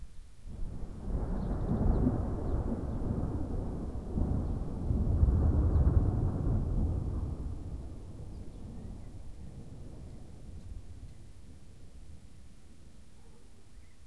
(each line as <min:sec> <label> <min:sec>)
0:00.5 thunder 0:11.7